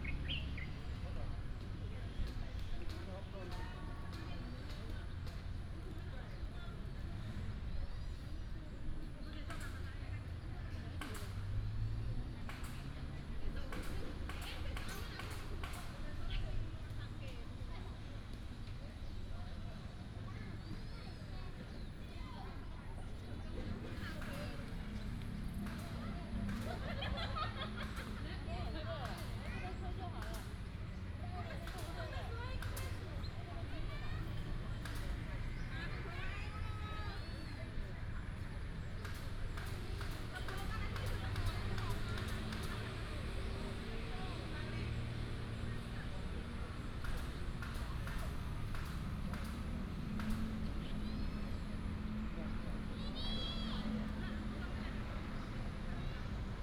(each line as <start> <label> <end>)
0.0 birds sound 3.4
0.0 Traffic sound 56.6